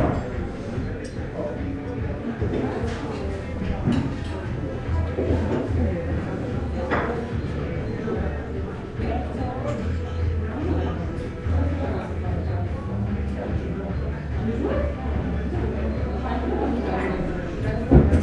0.0s hubbub 18.2s

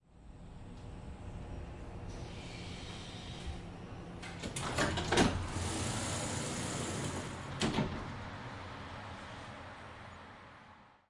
0.8s tramdoors opening 8.4s

